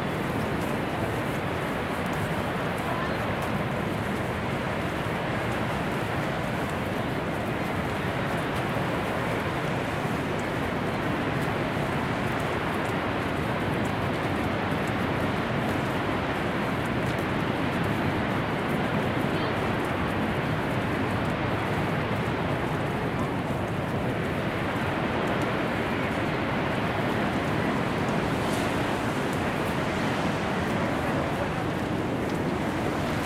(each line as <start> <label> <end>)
0.0 waterfall 33.2